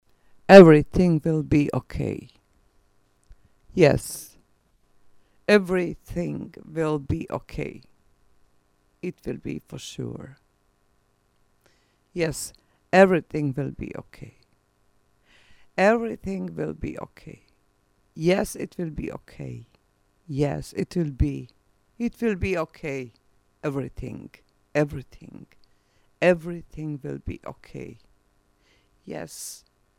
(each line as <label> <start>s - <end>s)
voice 0.5s - 2.4s
voice 3.8s - 4.4s
voice 5.5s - 7.8s
voice 9.0s - 10.4s
voice 12.2s - 14.4s
voice 15.8s - 17.4s
voice 18.2s - 25.5s
voice 26.2s - 28.0s
voice 29.1s - 29.6s